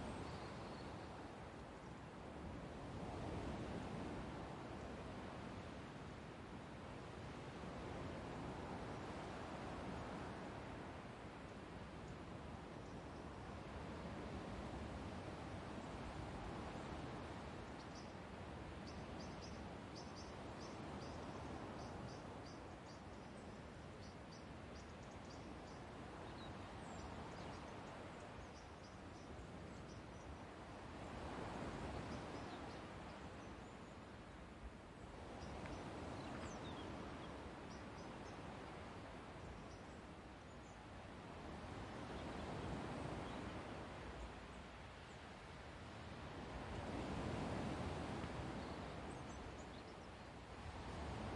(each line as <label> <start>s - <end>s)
waves 0.0s - 51.3s